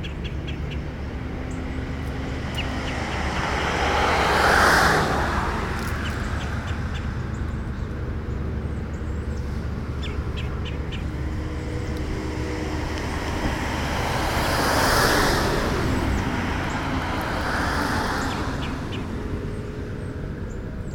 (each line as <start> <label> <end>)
0.0 automobile traffic 20.9